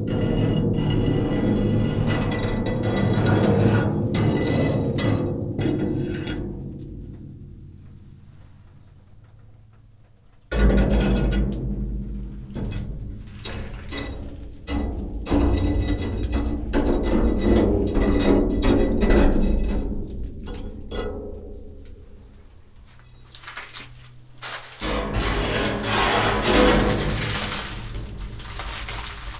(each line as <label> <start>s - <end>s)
dry leaves 22.9s - 29.3s
metal thing and plastic chair 23.1s - 29.3s